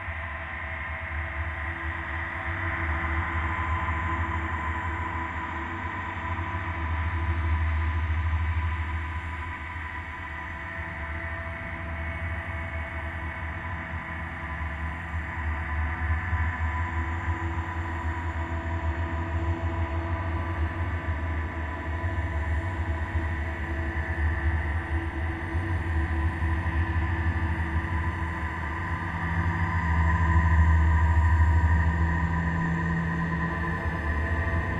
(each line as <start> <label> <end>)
0.0 Drone 34.7